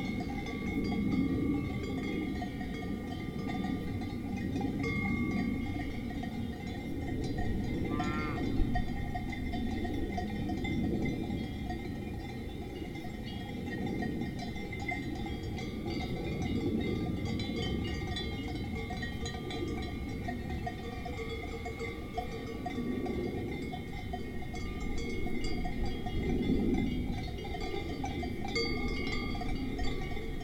plane 0:00.0 - 0:03.4
Swiss Cowbells 0:00.0 - 0:30.4
mooings 0:07.9 - 0:08.6
plane 0:26.1 - 0:28.0

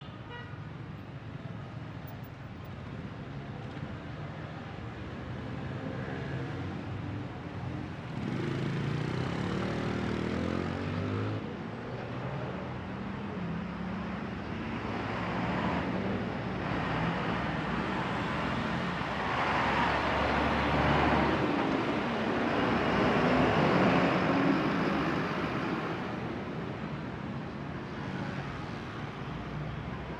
Trafico de carros por una avenida principal 0:12.8 - 0:30.1

